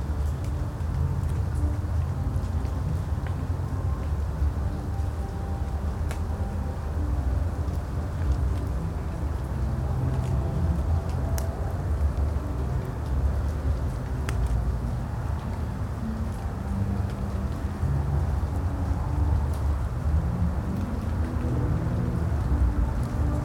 music from a distant concert 0:00.0 - 0:23.4
water dripping from the trees 0:00.0 - 0:23.4

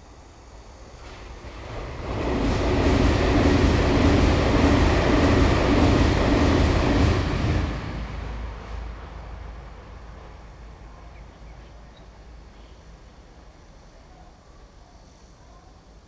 The train runs through 0:00.0 - 0:16.0
traffic sound 0:05.9 - 0:12.7

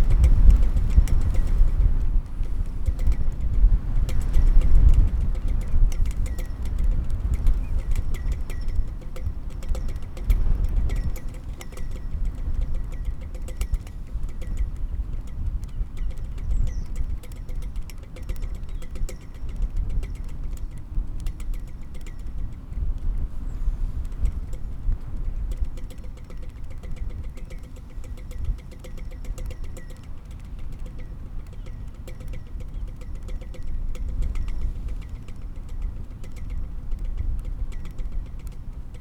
Pinging flagpole 0:00.0 - 0:39.0
blustery wind 0:00.0 - 0:39.0

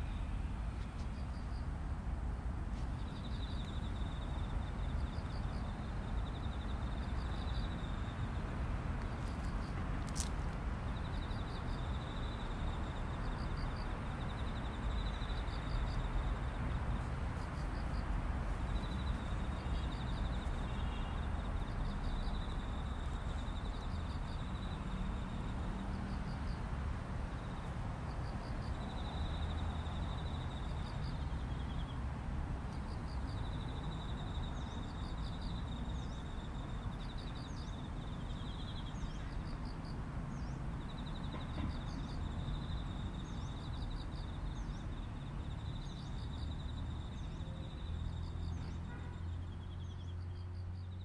cicadas 0:00.0 - 0:51.0

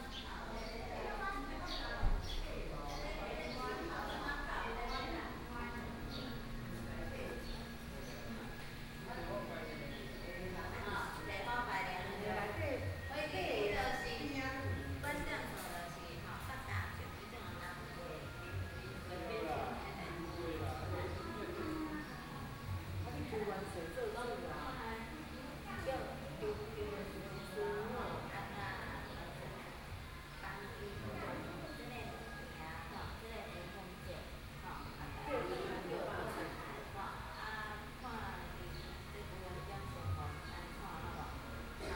Birdsong sound 0:00.0 - 0:13.1
Birdsong sound 0:36.5 - 0:41.9

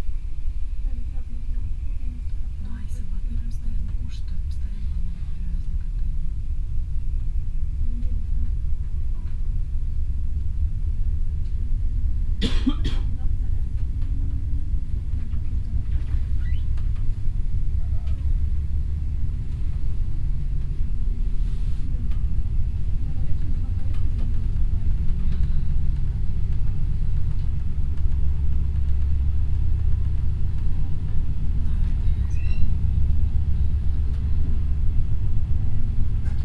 regio train 0:00.0 - 0:36.4
conversation of two russian women 0:00.8 - 0:06.4
conversation of two russian women 0:12.8 - 0:14.6
conversation of two russian women 0:21.2 - 0:25.3

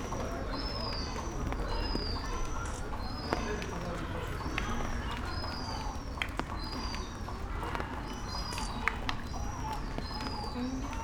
rain 0:00.0 - 0:11.0
seagulls 0:00.0 - 0:11.0

